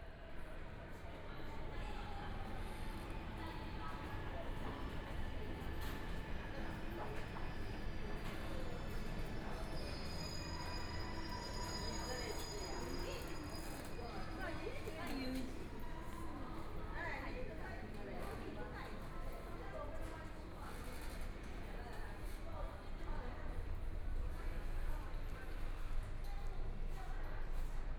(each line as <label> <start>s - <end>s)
Walking in the subway station 0.0s - 27.9s
Subway station broadcast messages 0.1s - 27.9s